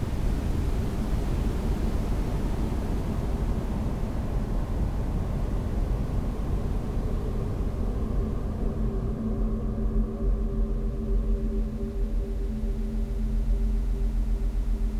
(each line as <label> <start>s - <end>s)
rumble 0.0s - 14.9s